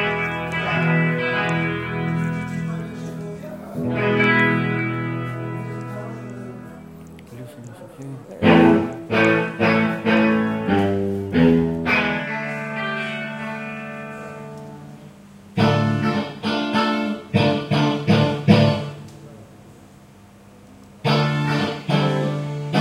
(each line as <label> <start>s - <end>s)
electric guitar 0.0s - 7.4s
electric guitar 8.0s - 19.3s
electric guitar 20.9s - 22.8s